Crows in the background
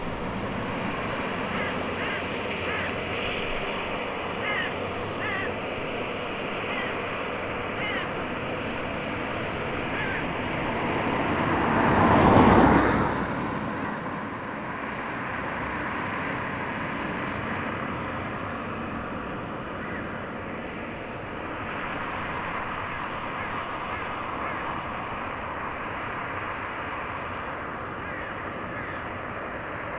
0:01.4 0:10.9, 0:19.3 0:20.8, 0:21.8 0:26.1, 0:27.2 0:29.9

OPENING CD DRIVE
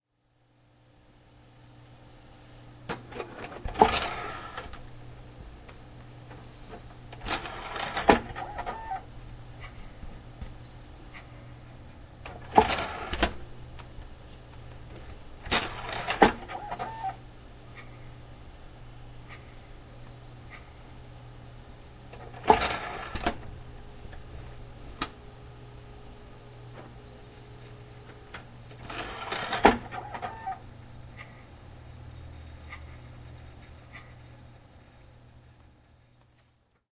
0:02.9 0:04.8, 0:07.1 0:09.1, 0:12.2 0:13.4, 0:15.4 0:17.2, 0:22.2 0:23.5, 0:28.4 0:30.6

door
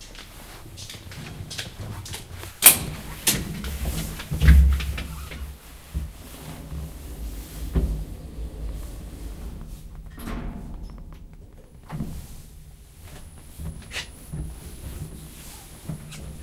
0:06.4 0:14.1

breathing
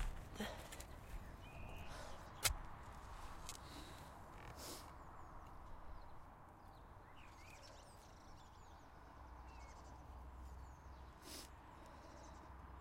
0:01.8 0:02.3, 0:03.5 0:04.9, 0:11.2 0:12.6

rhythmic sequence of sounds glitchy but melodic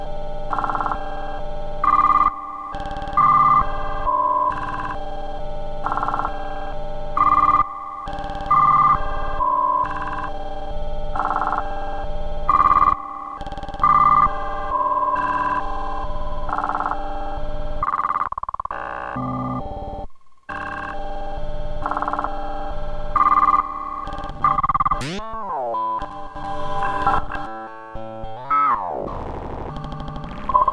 0:24.6 0:30.7

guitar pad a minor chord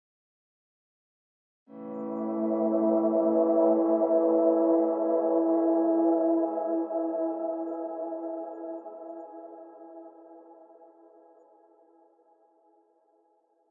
0:01.7 0:10.4

